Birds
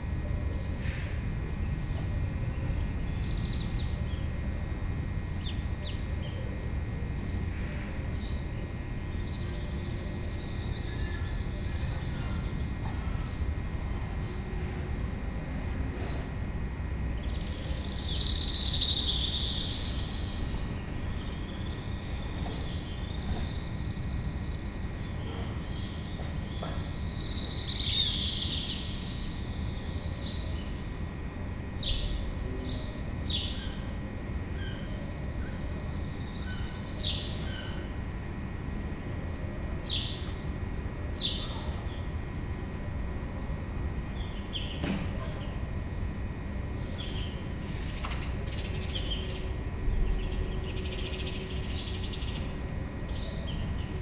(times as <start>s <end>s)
15.7s 38.6s, 44.0s 54.0s